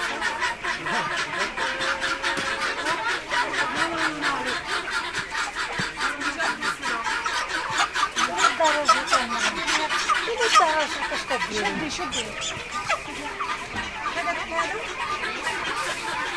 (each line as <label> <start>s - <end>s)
chickens 0.0s - 16.3s
ducks 0.0s - 16.3s